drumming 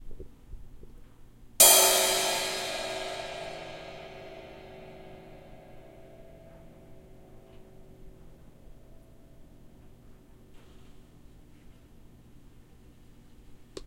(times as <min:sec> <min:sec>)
0:01.6 0:07.6